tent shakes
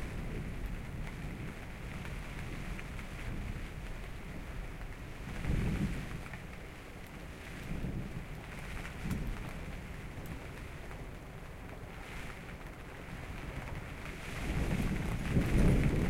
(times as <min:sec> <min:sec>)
0:12.0 0:16.0